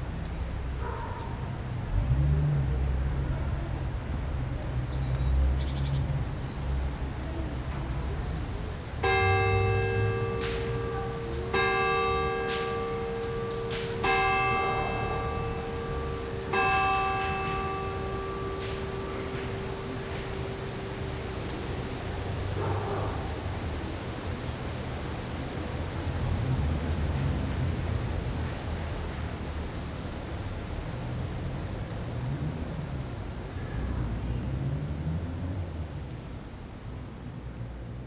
bells ring four 9.0 - 23.8

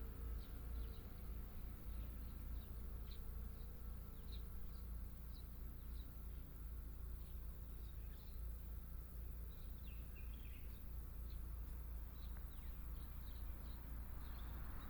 Birdsong sound 0.0 - 14.8
Traffic Sound 10.9 - 14.8

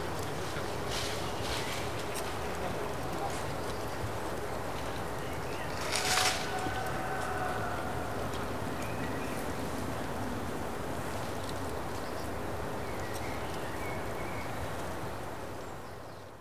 shrivelled leaves 5.7 - 7.0

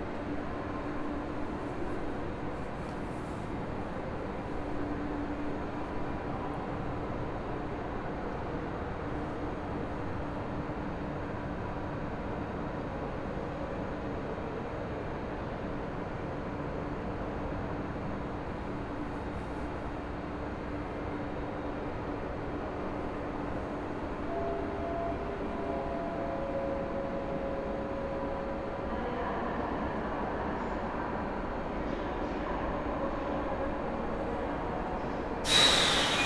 anouncements for regional trains 20.1 - 36.2

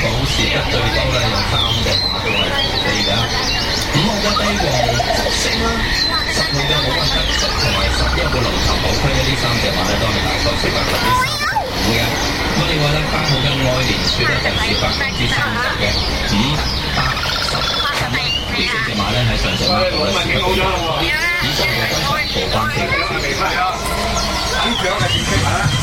bird market 0.0 - 25.8

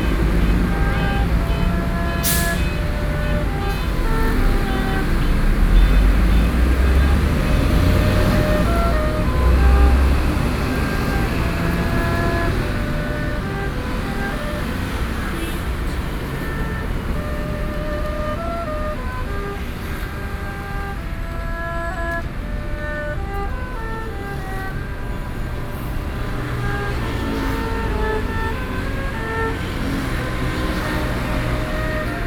Played traditional musical instruments in the streets 0.0 - 32.2

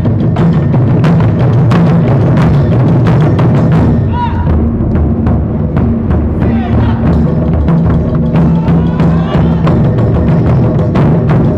Taikos 0.0 - 11.5
street musicians 0.0 - 11.5
Shout 4.1 - 4.6
voices 6.4 - 7.2
voices 8.4 - 9.8
Shout 8.4 - 9.8

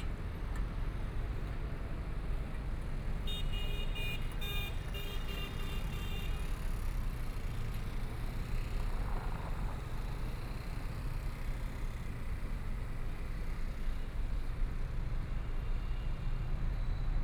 traffic sound 0.0 - 17.2

